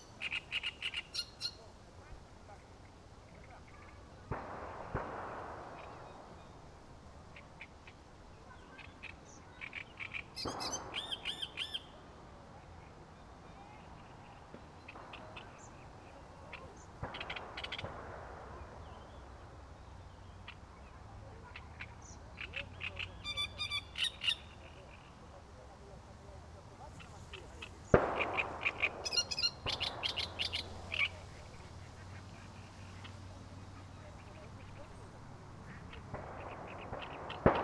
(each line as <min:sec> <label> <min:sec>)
0:00.0 Great reed warbler 0:01.7
0:19.0 Great reed warbler 0:25.4
0:26.8 Great reed warbler 0:37.6